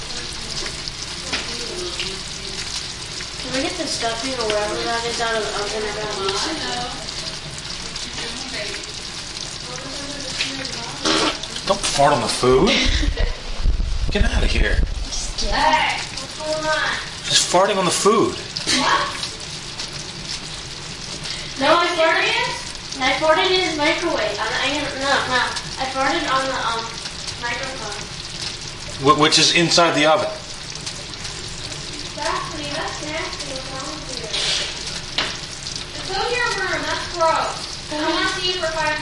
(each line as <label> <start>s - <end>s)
turkey sissling 0.0s - 13.1s
fart 11.0s - 11.5s
turkey sissling 25.4s - 38.4s